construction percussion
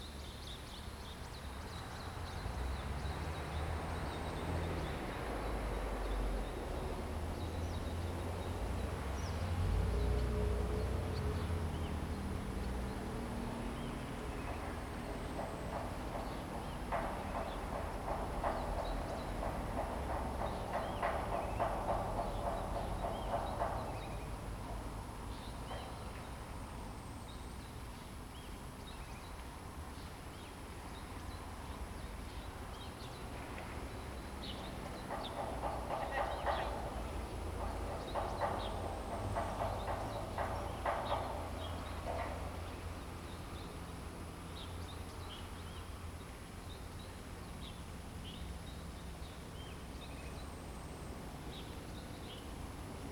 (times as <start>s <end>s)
12.0s 25.9s, 34.1s 44.4s